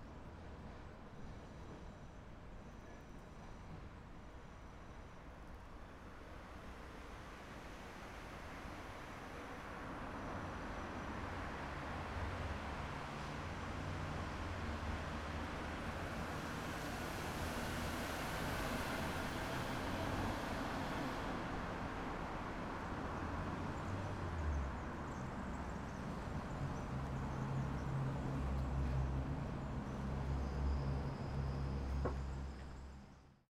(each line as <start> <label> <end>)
0.0 train rijeka street 33.4